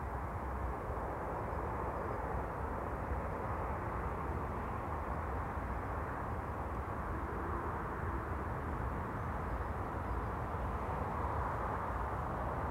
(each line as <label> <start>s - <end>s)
plane takes off 0.6s - 12.7s